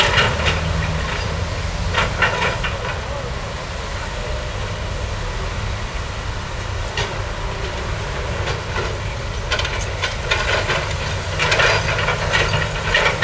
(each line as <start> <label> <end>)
0.0 construction site 13.2